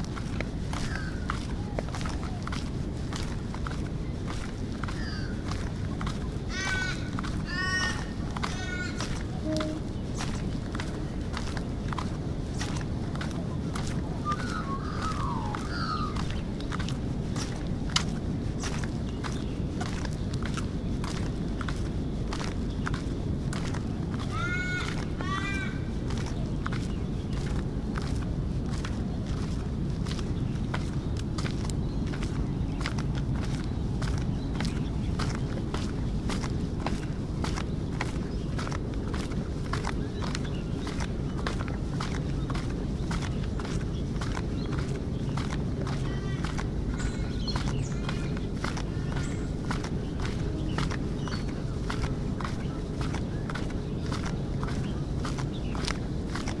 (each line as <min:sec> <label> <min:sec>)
0:00.0 birds 0:56.6